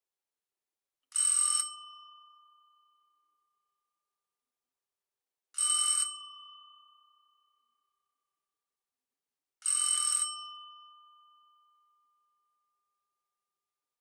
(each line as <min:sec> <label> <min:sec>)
0:05.6 Ring Bell 0:08.0